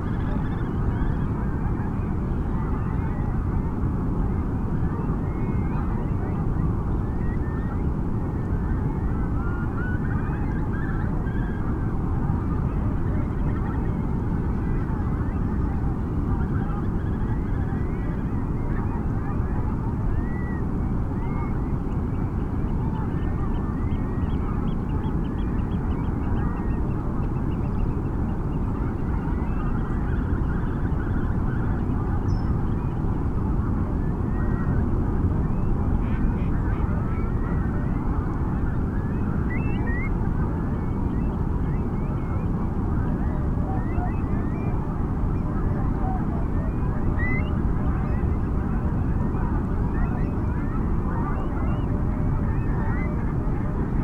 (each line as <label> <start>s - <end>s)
curlew 0.0s - 54.0s
greylag geese 35.5s - 53.9s
pink-footed geese 35.6s - 53.9s
pheasant 43.1s - 53.2s